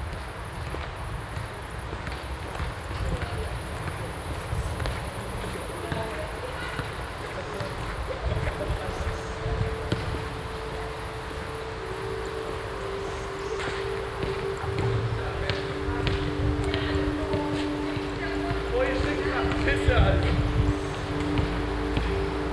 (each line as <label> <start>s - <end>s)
young people playing basketball 0.7s - 22.5s
vocal sound of a singer from a concert 8.5s - 22.5s